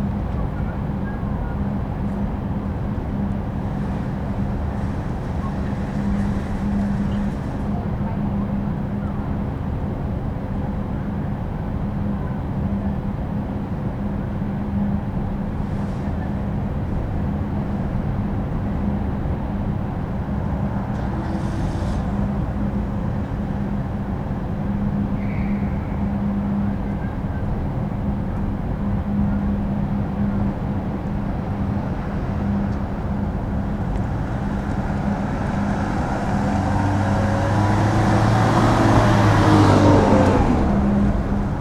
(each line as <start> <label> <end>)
0.0 outside ventilation of the adjacent supermarket 41.6